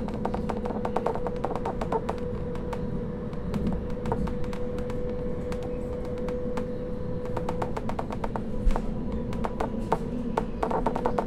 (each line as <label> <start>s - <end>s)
train between two stations 0.0s - 11.2s